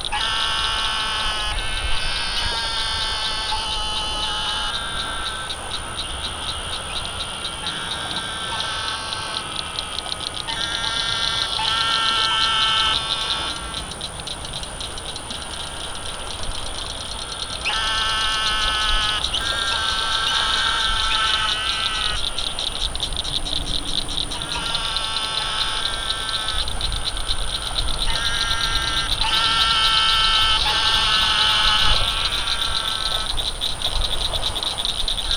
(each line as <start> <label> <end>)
0.0 closer frogs and toads erupted with mass calls 35.3
0.0 distant toads 35.3
17.1 air traffic 35.3